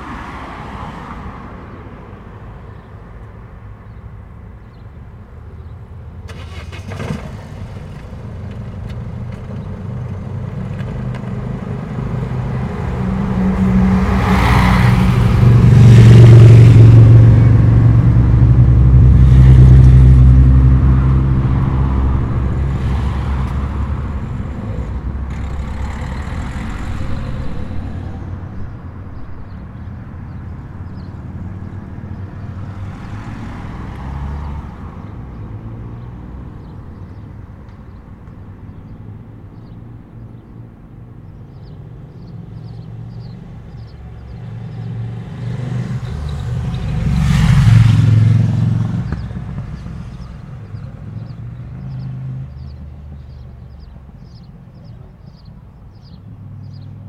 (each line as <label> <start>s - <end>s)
motos 6.3s - 28.8s